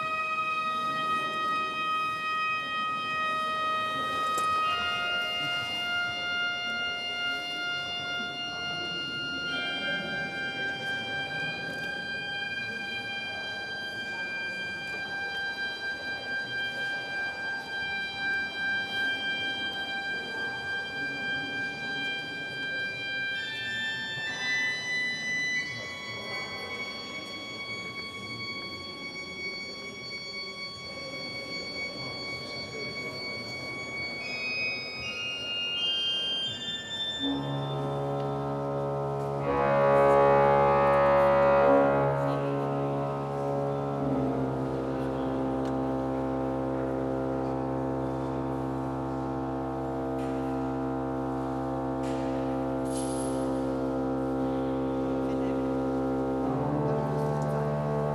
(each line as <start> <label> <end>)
0.0 Tuning of church organ 58.1